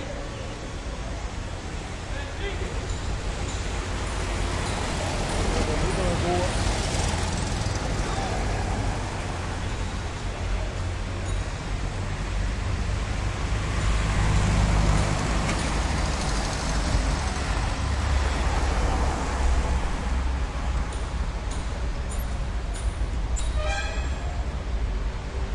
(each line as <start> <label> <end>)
0.0 traffic along big boulevard 25.5